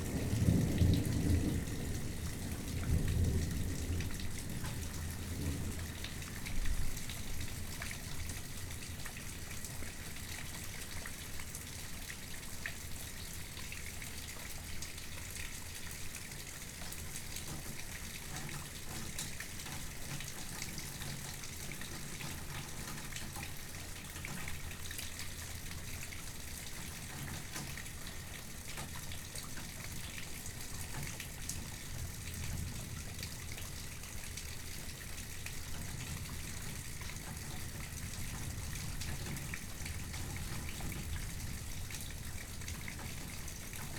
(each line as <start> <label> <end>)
0.0 Rainfall 43.9